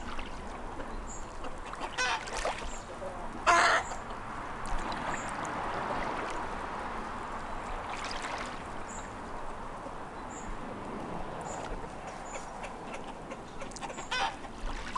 birds 0.0 - 14.9
chickens 11.7 - 14.9

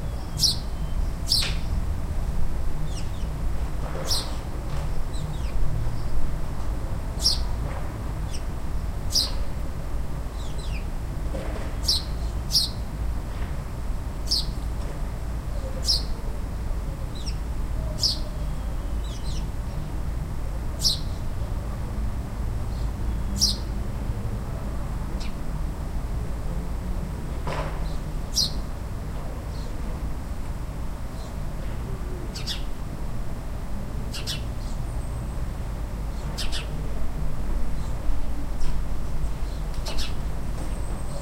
Sparrows were out singing in nearby trees 0.0 - 1.9
Sparrows were out singing in nearby trees 2.8 - 3.4
Sparrows were out singing in nearby trees 4.0 - 6.3
Sparrows were out singing in nearby trees 7.1 - 7.6
Sparrows were out singing in nearby trees 8.2 - 9.6
Sparrows were out singing in nearby trees 10.2 - 11.0
Sparrows were out singing in nearby trees 11.8 - 13.0
Sparrows were out singing in nearby trees 14.2 - 14.7
Sparrows were out singing in nearby trees 15.5 - 20.0
Sparrows were out singing in nearby trees 20.7 - 21.6
Sparrows were out singing in nearby trees 22.6 - 24.0
Sparrows were out singing in nearby trees 25.1 - 25.4
Sparrows were out singing in nearby trees 27.8 - 28.7
Sparrows were out singing in nearby trees 29.5 - 29.8
Sparrows were out singing in nearby trees 31.1 - 31.4
Sparrows were out singing in nearby trees 32.1 - 32.8
Sparrows were out singing in nearby trees 34.0 - 36.8
Sparrows were out singing in nearby trees 37.7 - 41.2

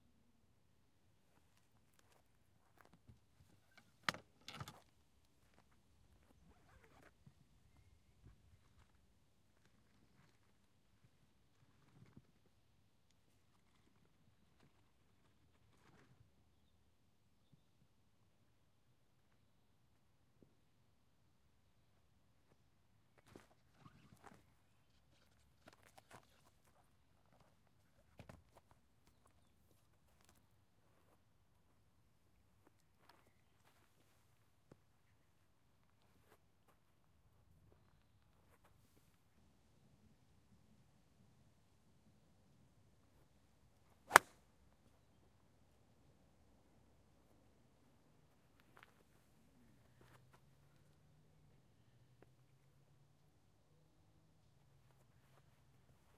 Golf hit with a Yonex driver 44.1 - 44.4

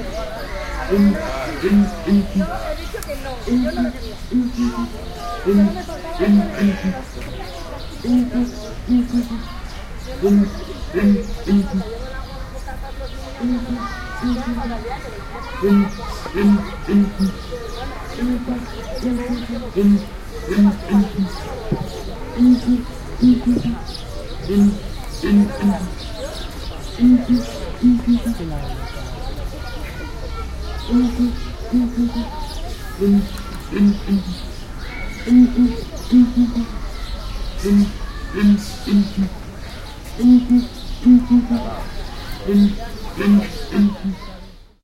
Song of two males of Southern Ground Hornbill 0.0 - 2.7
Song of two males of Southern Ground Hornbill 3.4 - 7.4
Song of two males of Southern Ground Hornbill 8.0 - 12.0
Song of two males of Southern Ground Hornbill 13.3 - 14.8
Song of two males of Southern Ground Hornbill 15.6 - 28.4
Song of two males of Southern Ground Hornbill 30.8 - 36.8
Song of two males of Southern Ground Hornbill 37.6 - 39.4
Song of two males of Southern Ground Hornbill 40.2 - 44.3

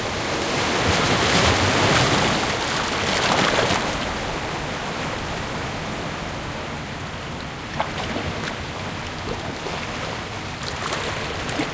waves in a medium strength breeze 0.0 - 11.7
distinct gentle water splashing 7.7 - 11.7

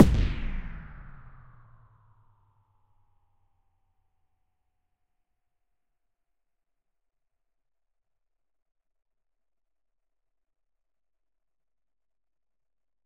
low end pitched down techno bass drum 0.0 - 1.3

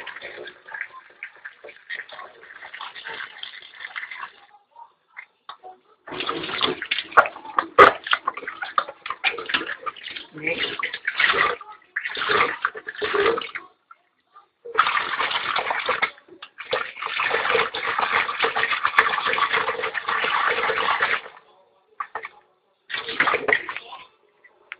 Washing the dishes 0.0 - 24.7

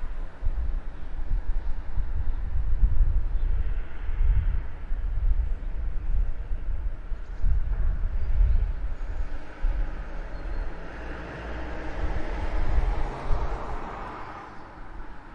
cars 8.7 - 15.3

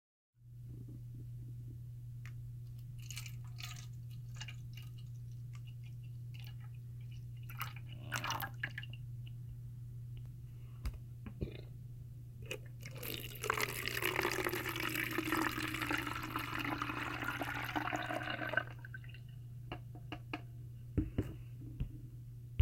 water being poured out of and into a bottle 3.0 - 9.0
water being poured out of and into a bottle 12.5 - 19.1

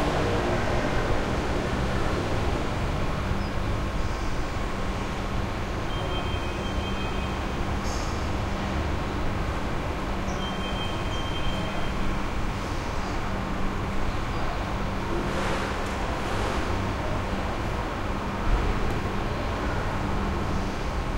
traffic 0.0 - 21.1
hotel activity 5.6 - 21.1

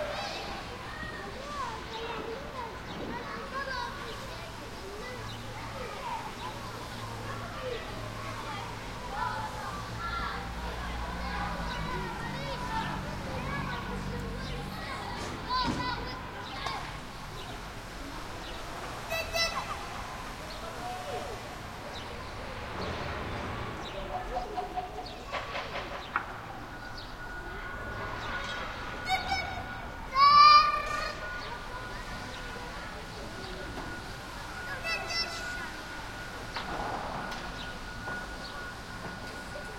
kids playing in rubble 0.0 - 39.7

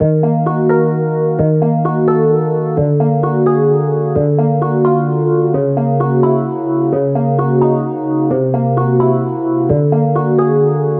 cutscene music 0.0 - 10.9

